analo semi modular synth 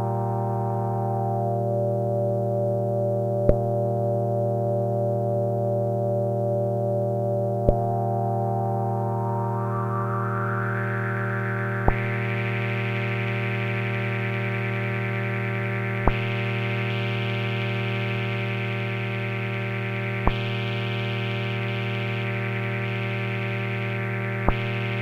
0:07.6 0:25.0

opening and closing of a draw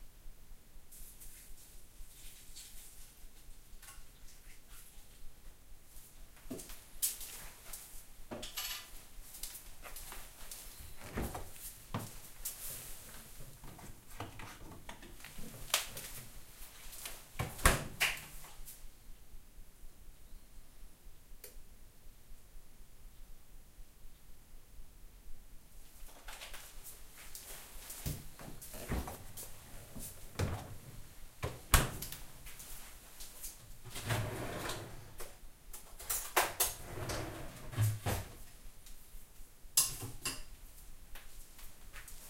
0:33.9 0:35.3, 0:36.2 0:38.3

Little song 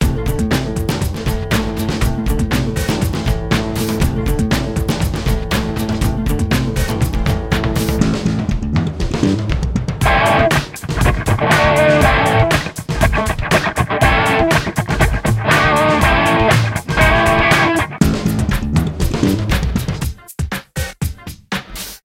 0:10.0 0:18.0

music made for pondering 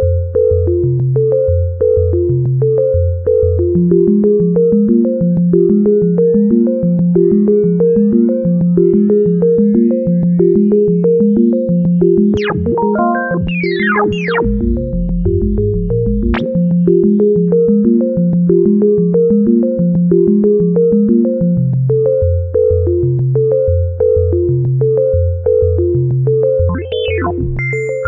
0:10.6 0:21.4, 0:26.5 0:28.0

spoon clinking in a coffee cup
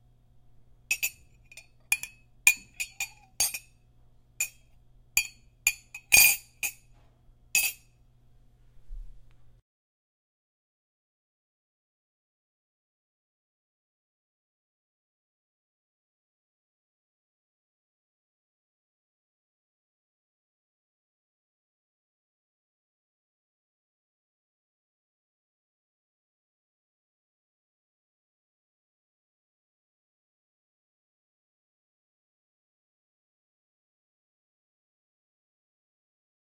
0:00.9 0:03.8, 0:04.4 0:06.9, 0:07.6 0:07.9

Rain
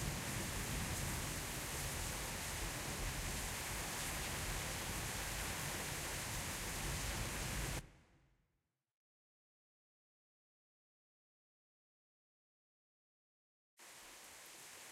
0:00.0 0:07.8, 0:13.8 0:14.9

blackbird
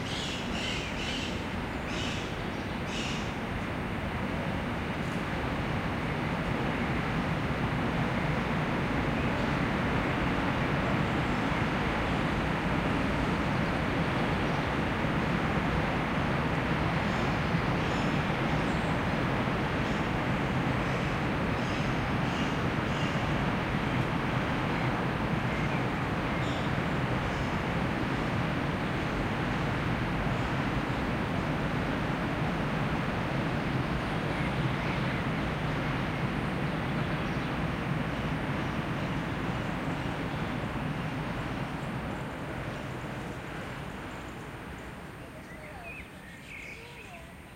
0:00.0 0:03.3, 0:45.4 0:47.3

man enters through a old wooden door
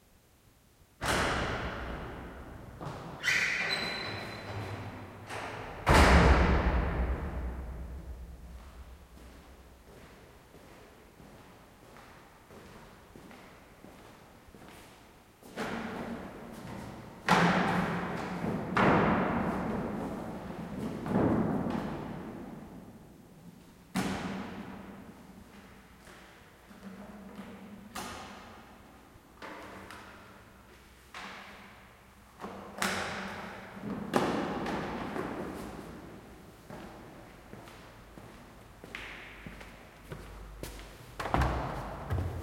0:39.0 0:42.4

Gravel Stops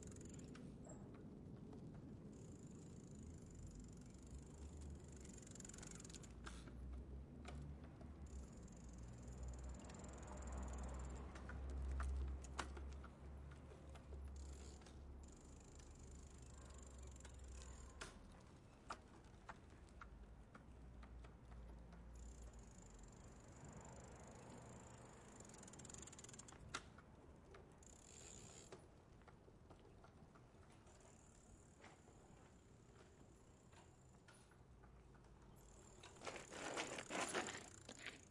0:35.2 0:38.3

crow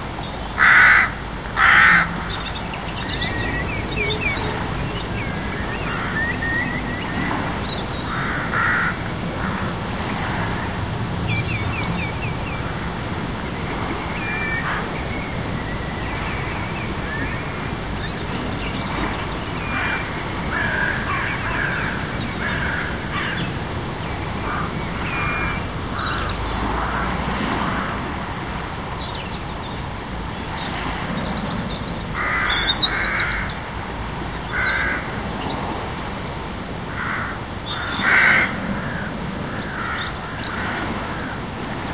0:00.6 0:02.6, 0:03.2 0:09.8, 0:19.6 0:23.5, 0:24.4 0:28.0, 0:32.2 0:33.6, 0:34.5 0:35.1, 0:37.0 0:41.5

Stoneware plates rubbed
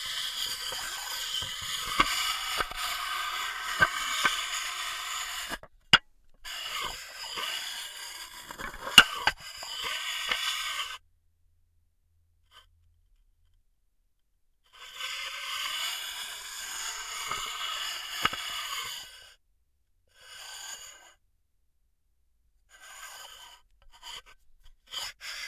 0:00.0 0:05.7, 0:06.4 0:11.0

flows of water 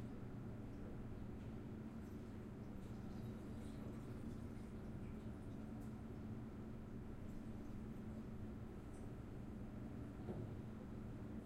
0:00.0 0:09.0

